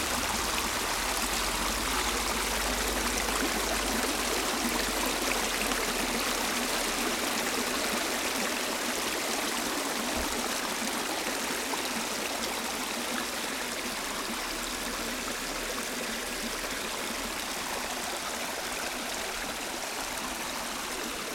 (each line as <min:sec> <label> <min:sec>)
0:00.0 Small creek, water running 0:21.3